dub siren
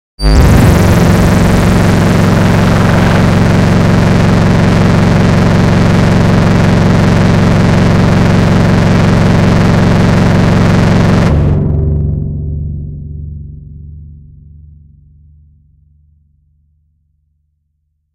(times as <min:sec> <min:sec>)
0:00.2 0:11.7